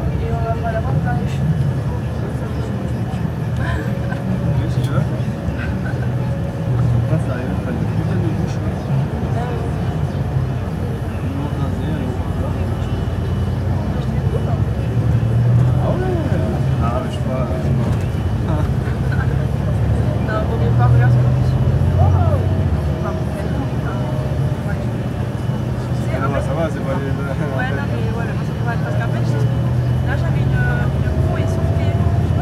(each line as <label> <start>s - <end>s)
bus 0.0s - 32.4s
people's conversations 0.0s - 32.4s